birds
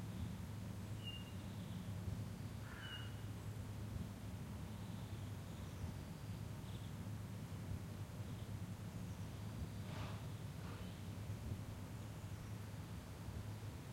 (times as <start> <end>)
0.1 3.6